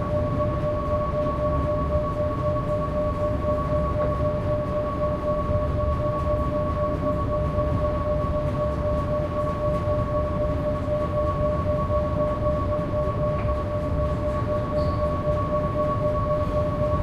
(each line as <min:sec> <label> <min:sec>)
0:00.0 Ferry engine room 0:17.0